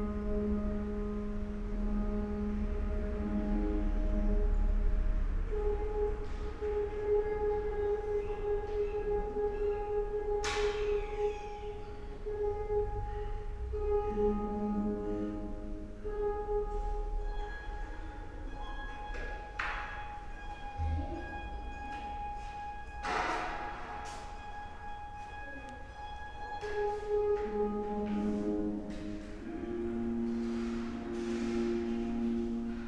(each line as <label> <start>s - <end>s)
harp 0.0s - 32.8s
steps 18.8s - 32.8s